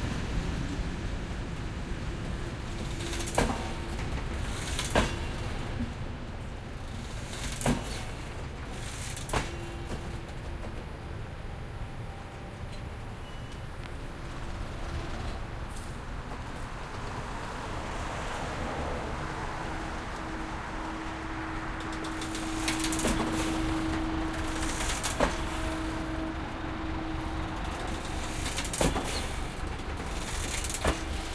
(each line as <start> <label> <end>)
13.7 cars passing by 31.3